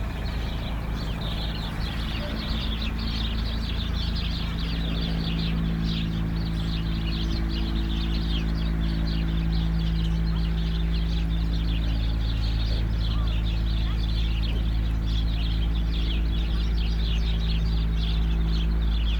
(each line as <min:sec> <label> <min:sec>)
0:00.0 three working excavators 0:19.1